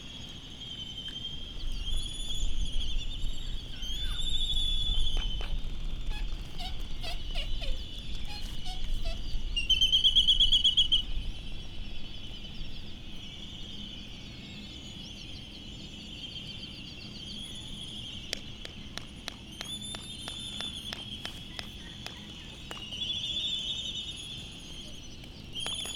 bristle-thighed curlew 0.0 - 25.9
canaries 0.1 - 25.9
Laysan albatross 18.6 - 25.9

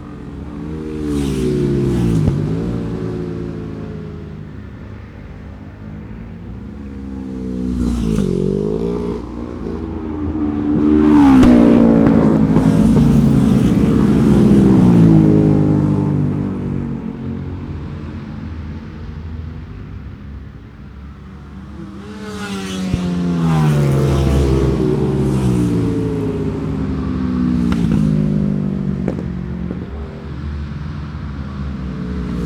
Road Races 0.0 - 32.4

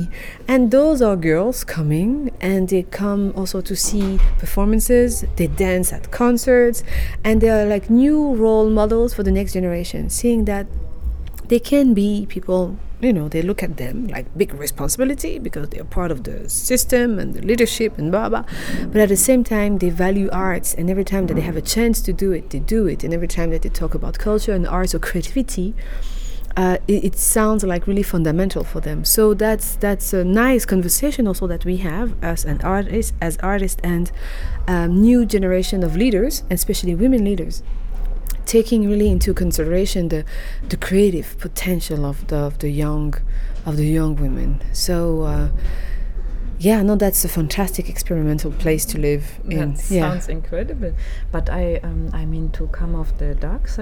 conversation 0.0 - 53.8

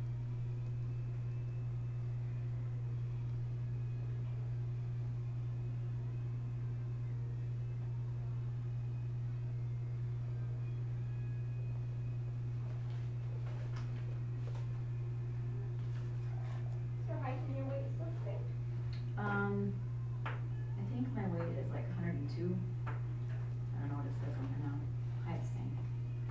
office biz talk 23.7 - 25.9

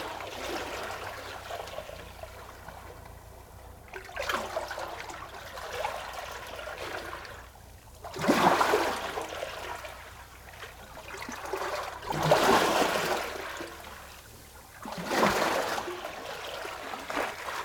sea 0.0 - 17.6

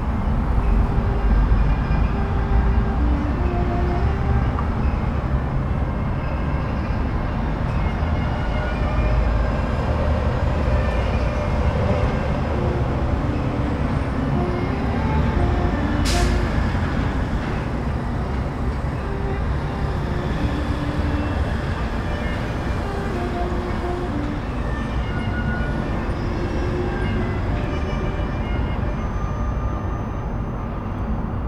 instrumental music 0.5 - 29.8

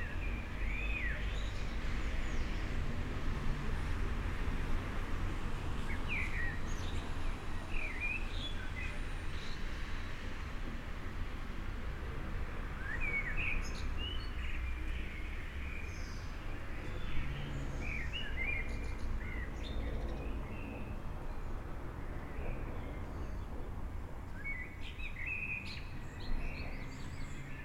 birdsong 12.8 - 21.4
birdsong 24.3 - 27.6

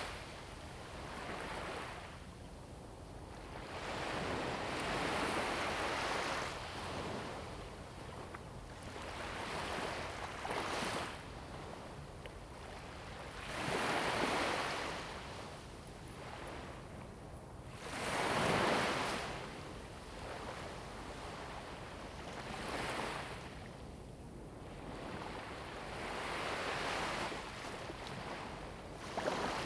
waves 0.0 - 2.2
waves 3.2 - 23.9
waves 24.7 - 29.6

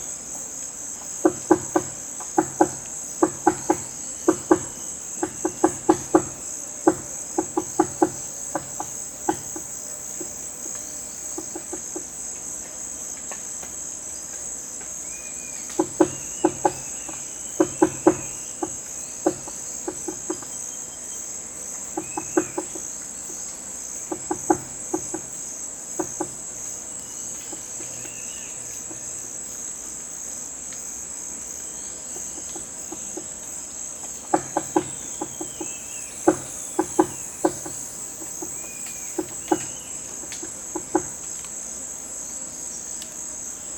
small woodpecker 1.1 - 12.1
small woodpecker 14.8 - 29.2
small woodpecker 31.5 - 41.6

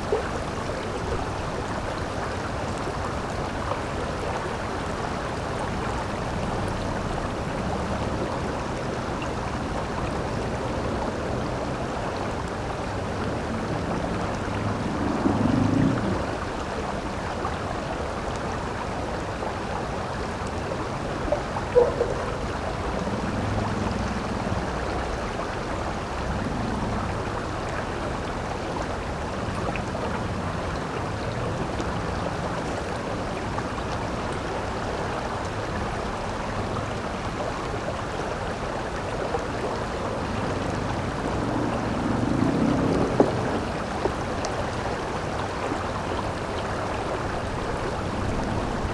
river 0.0 - 48.9
city hum 19.6 - 34.1

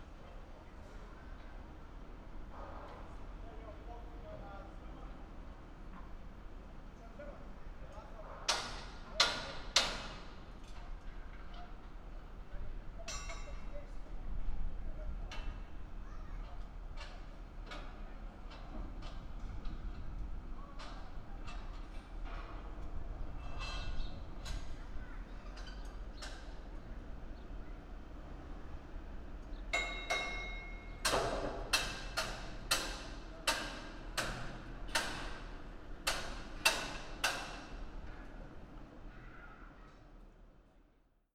Hammering metal 29.7 - 35.4

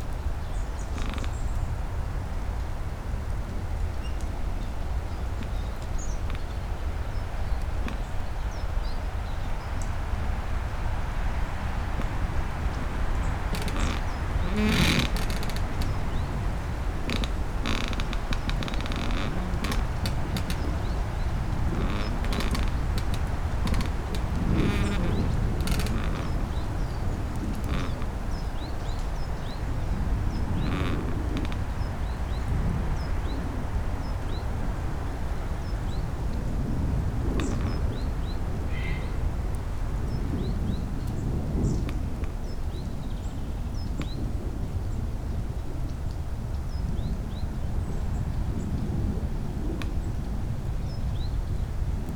wind 0.0 - 52.1
squeaking pine tree 0.4 - 1.8
pusher boat on the oder river getting closer 3.4 - 32.3
birds 3.8 - 44.2
squeaking pine tree 3.9 - 9.0
squeaking pine tree 10.4 - 33.3
squeaking pine tree 36.8 - 39.2

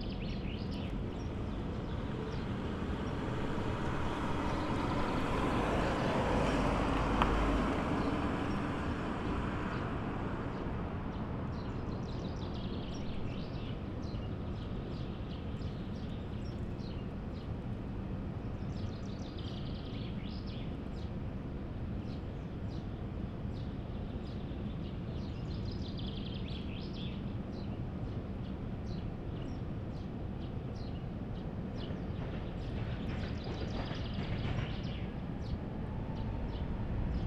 sounds of the harbour in the background 0.0 - 37.2
tram line 1+2 u-turn 0.9 - 11.4
tram line 1+2 u-turn 30.1 - 37.2

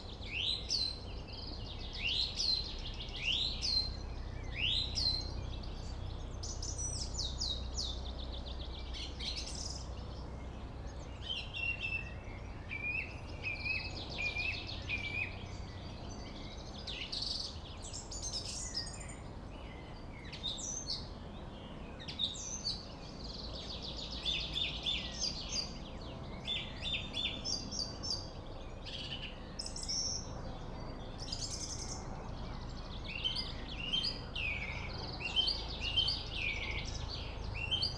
Song thrush (Singdrossel) singing 0.0 - 37.9
distant city / traffic noise 0.0 - 37.9

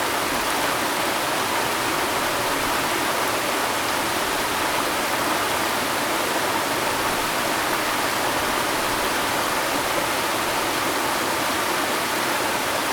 Waterfalls 0.0 - 12.9

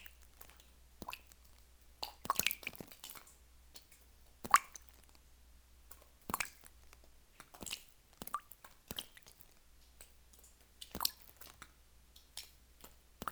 small sizzle sound when water reflux into calcite concretion 0.0 - 13.3

